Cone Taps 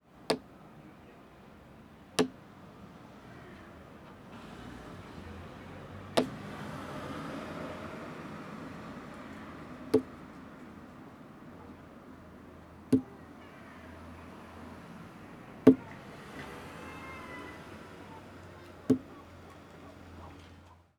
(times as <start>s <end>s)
0.2s 0.5s, 2.2s 2.4s, 6.2s 6.4s, 9.9s 10.2s, 12.9s 13.2s, 15.7s 16.6s, 18.8s 19.2s